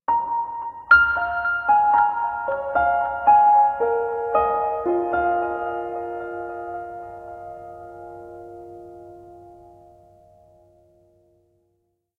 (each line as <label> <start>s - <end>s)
piano 0.1s - 12.0s